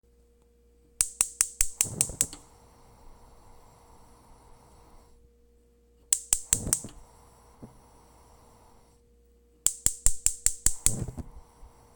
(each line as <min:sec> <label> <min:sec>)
0:01.0 stove turns on with sparks and tapping 0:05.1
0:01.0 metal and gas igniting 0:05.3
0:06.0 stove turns on with sparks and tapping 0:08.8
0:06.0 metal and gas igniting 0:11.9
0:09.6 stove turns on with sparks and tapping 0:11.9
0:09.7 pop 0:11.4